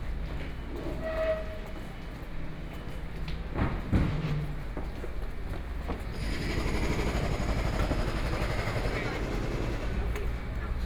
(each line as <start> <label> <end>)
0.0 walking out of the subway station 10.8
6.0 road construction 10.8